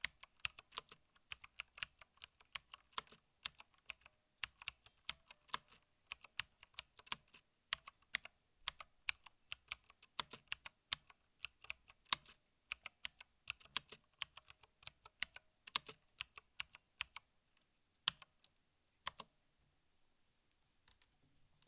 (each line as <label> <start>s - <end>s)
typing on a mechanical keyboard 0.0s - 17.2s